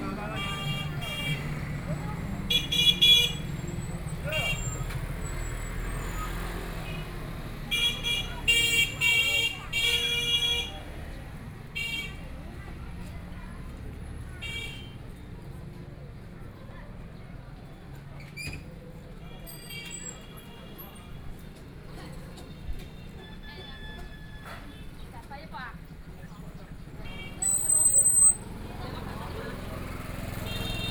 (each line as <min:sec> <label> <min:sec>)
0:00.0 Traffic Sound 0:30.9
0:00.0 Walking along the street 0:30.9
0:00.0 crowd 0:30.9
0:12.6 sound of the store 0:28.6